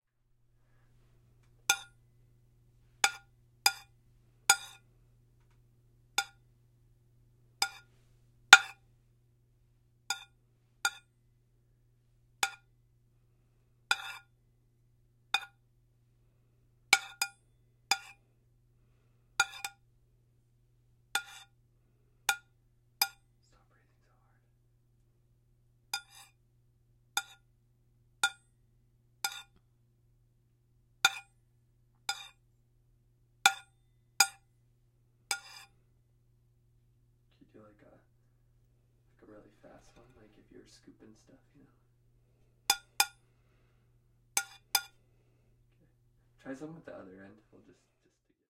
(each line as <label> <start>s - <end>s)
Fork or silverware scraping against a metal plate 3.0s - 3.9s
Fork or silverware scraping against a metal plate 4.5s - 4.8s
Fork or silverware scraping against a metal plate 7.6s - 7.9s
Fork or silverware scraping against a metal plate 8.6s - 8.8s
Fork or silverware scraping against a metal plate 10.1s - 11.1s
Fork or silverware scraping against a metal plate 13.9s - 14.3s
Fork or silverware scraping against a metal plate 17.0s - 18.2s
Fork or silverware scraping against a metal plate 19.4s - 19.8s
Fork or silverware scraping against a metal plate 21.2s - 21.5s
Fork or silverware scraping against a metal plate 26.0s - 26.4s
Fork or silverware scraping against a metal plate 27.2s - 27.4s
Fork or silverware scraping against a metal plate 29.3s - 29.6s
Fork or silverware scraping against a metal plate 31.1s - 31.3s
Fork or silverware scraping against a metal plate 32.1s - 32.4s
Fork or silverware scraping against a metal plate 35.3s - 35.8s
Fork or silverware scraping against a metal plate 44.4s - 45.0s